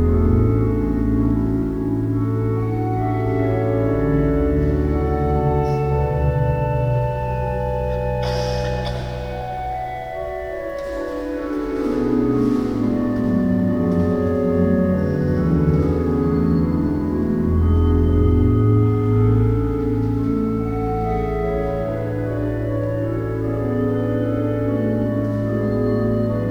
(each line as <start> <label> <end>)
0.0 Organ concert 26.5